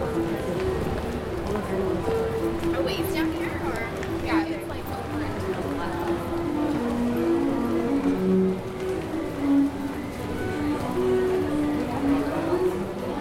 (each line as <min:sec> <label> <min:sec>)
0:00.0 cellist 0:13.2